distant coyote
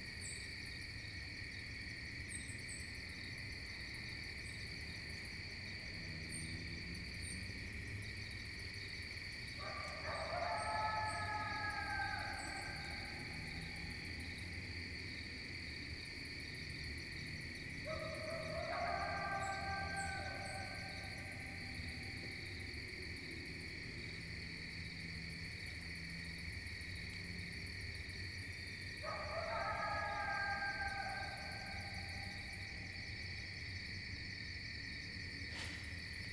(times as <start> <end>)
9.5 14.6, 17.3 22.7, 29.0 33.1